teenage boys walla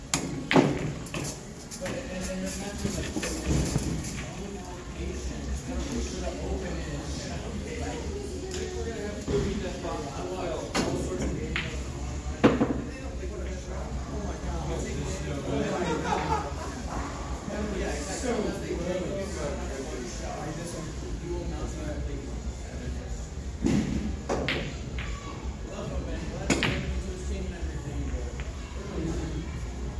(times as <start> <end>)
1.7 22.8